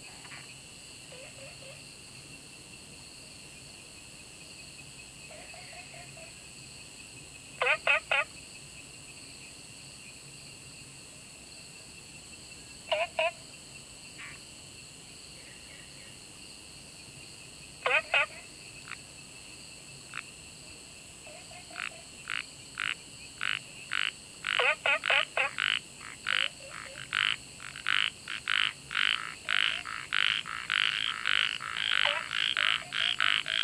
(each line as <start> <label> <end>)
0.0 insects 33.6
4.7 Frogs chirping 8.9
17.2 Frogs chirping 33.6